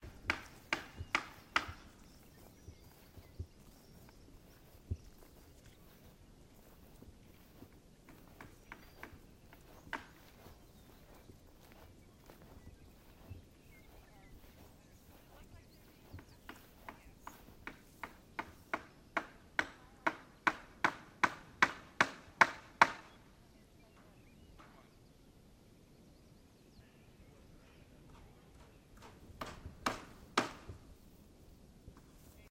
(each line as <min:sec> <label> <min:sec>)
0:00.0 hammering 0:02.0
0:17.2 hammering 0:23.1
0:29.0 hammering 0:30.8